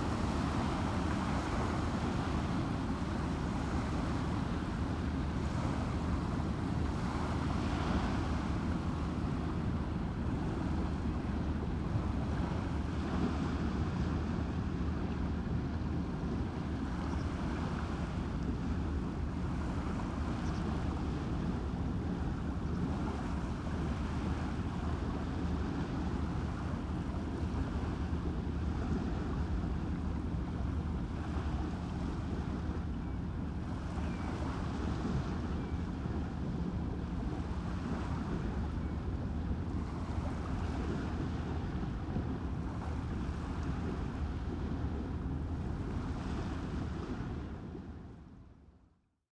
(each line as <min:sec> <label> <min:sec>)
0:00.0 waves hitting the embankment 0:48.3
0:00.0 boat accelerating 0:48.8